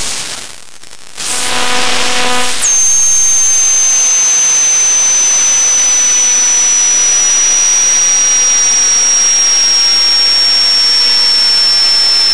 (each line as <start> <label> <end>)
1.1 radio 12.3